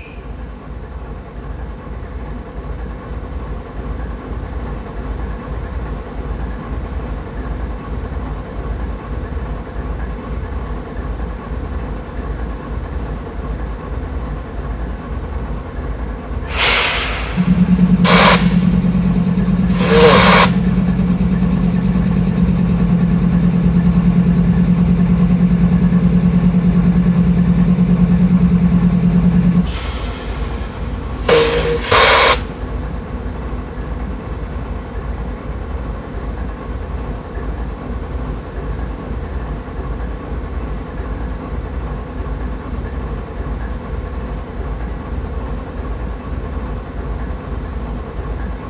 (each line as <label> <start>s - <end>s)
Freight Engine 0.0s - 0.6s
Freight Engine 16.5s - 35.6s